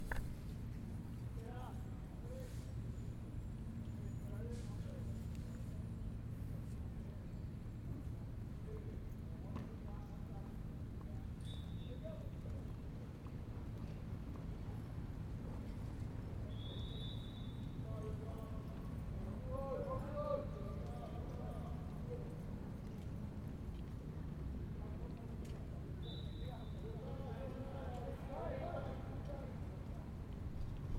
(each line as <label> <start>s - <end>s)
water polo practice 0.0s - 30.9s